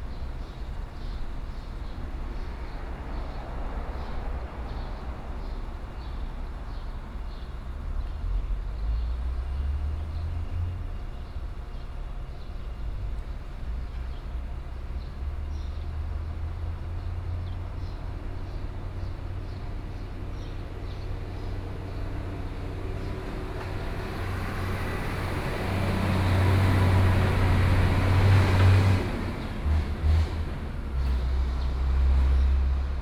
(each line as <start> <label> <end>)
0.0 Traffic Sound 33.0
0.0 Birdsong sound 24.8
19.8 Trains traveling through 33.0